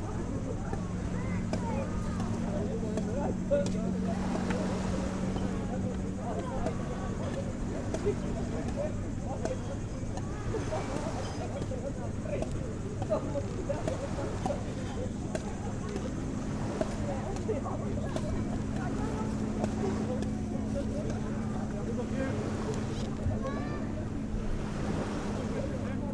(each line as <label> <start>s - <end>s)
Beach sounds 0.0s - 26.1s